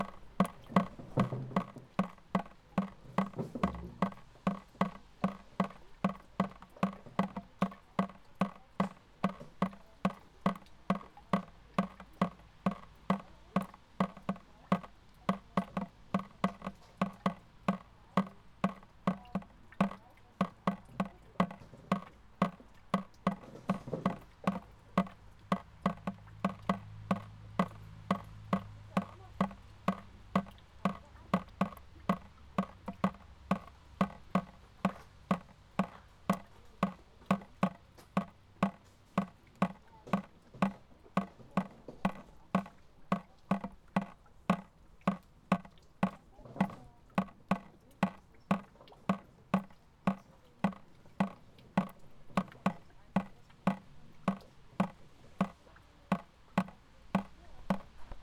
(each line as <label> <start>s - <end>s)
water drops in a bucket 0.0s - 58.2s